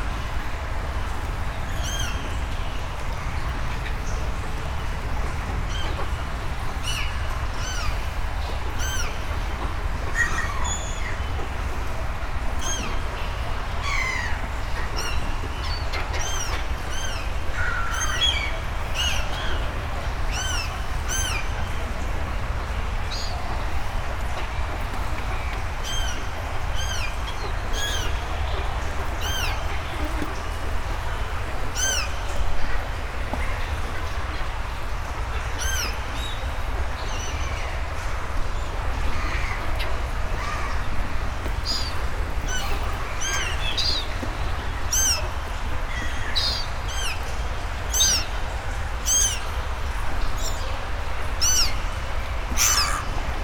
0.0s seagulls are eating some small things floating on the water 53.4s
0.0s underground Senne river 53.4s

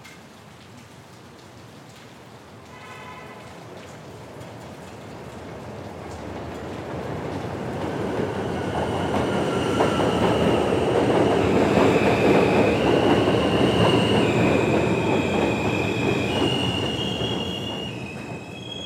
0.0s rain 18.8s
5.6s M Train 18.8s

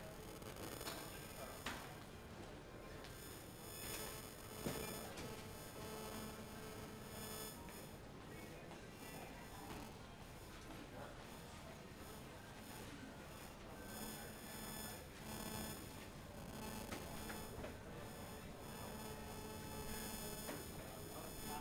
0.0s strange noises distort the recording 21.6s

